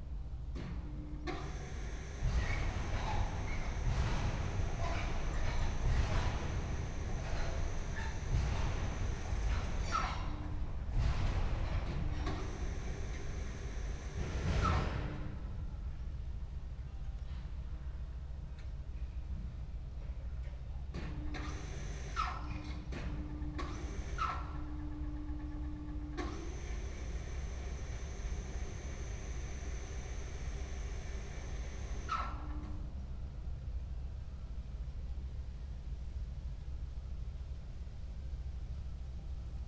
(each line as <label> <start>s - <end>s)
overhead crane moving rails 0.0s - 34.6s